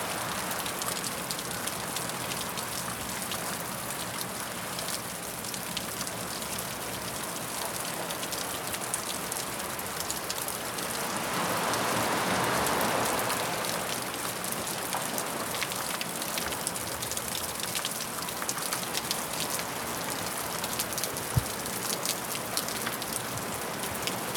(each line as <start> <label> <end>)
13.7 water dripping down cliff 24.3